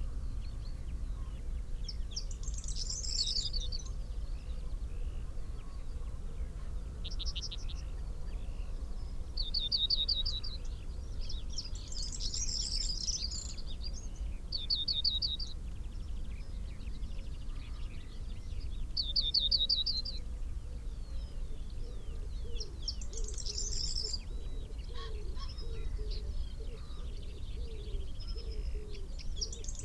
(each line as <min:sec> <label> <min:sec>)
0:19.1 pheasant 0:29.8